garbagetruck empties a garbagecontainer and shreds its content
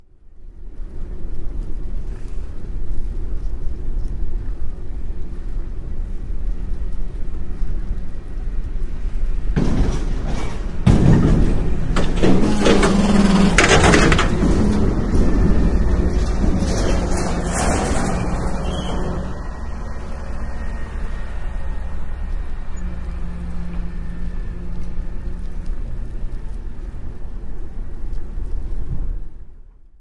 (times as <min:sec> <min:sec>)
0:09.5 0:20.8